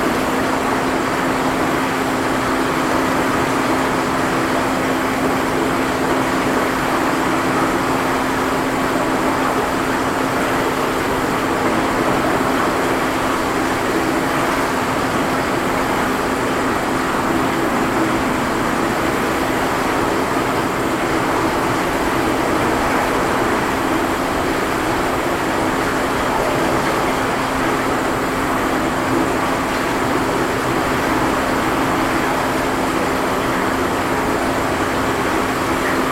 rushing water 0:00.0 - 0:36.1

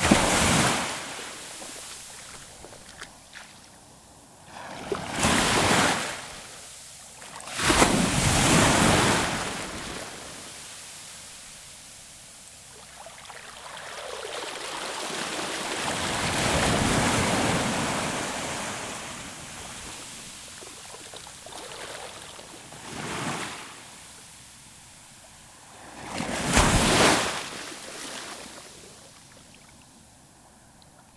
waves are big and strong 0:00.0 - 0:02.0
waves are big and strong 0:07.4 - 0:11.0
waves are big and strong 0:14.9 - 0:20.4
waves are big and strong 0:21.6 - 0:24.0
waves are big and strong 0:25.8 - 0:29.0

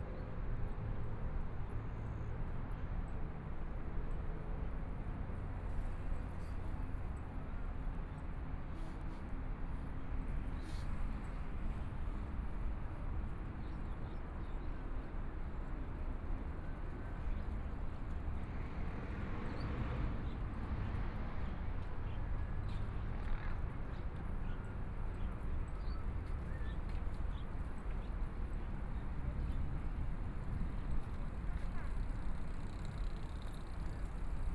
Pedestrian 0:00.0 - 0:34.5
Traffic Sound 0:18.4 - 0:34.5
Walking along the river 0:20.9 - 0:34.5
people riding bicycles through 0:24.0 - 0:34.5

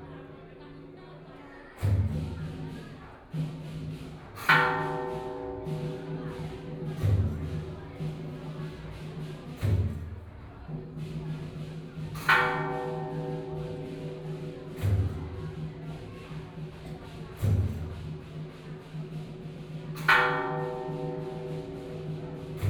drums 0:01.7 - 0:22.6
bells 0:04.6 - 0:09.8
bells 0:11.0 - 0:22.6

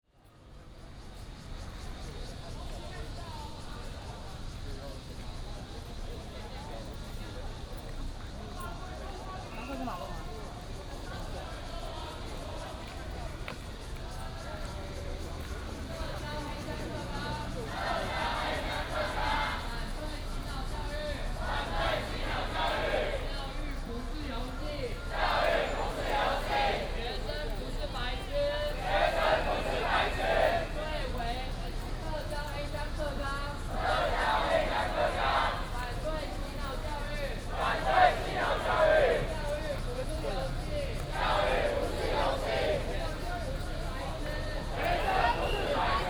Protest march 0:10.8 - 0:46.0
Traffic Sound 0:10.8 - 0:46.0

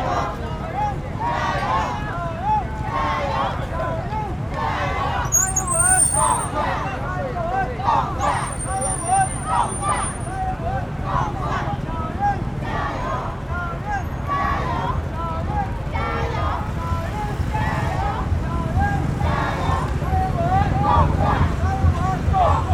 Election Parade 0:00.0 - 0:22.7
Traffic Sound 0:00.0 - 0:22.7

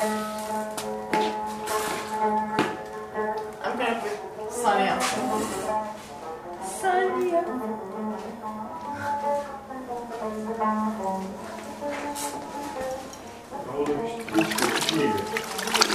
wiping the floor 0:00.0 - 0:02.4
wiping the floor 0:04.9 - 0:06.2
singing a good old song 0:06.6 - 0:09.2
singing a good old song 0:12.6 - 0:15.5

